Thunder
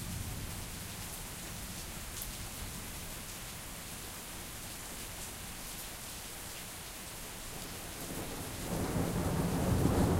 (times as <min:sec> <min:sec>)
0:08.1 0:10.1